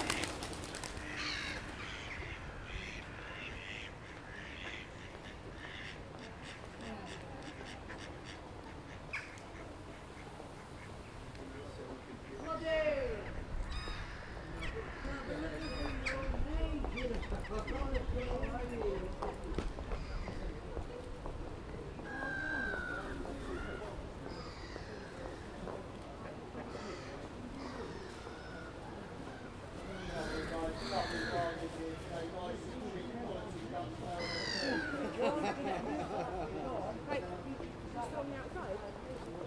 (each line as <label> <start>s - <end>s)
pigeons 0.0s - 11.0s
ducks 0.9s - 11.1s
crows 1.0s - 10.3s
crows 13.7s - 16.3s
crows 22.1s - 25.6s
crows 26.6s - 31.6s
crows 34.2s - 35.6s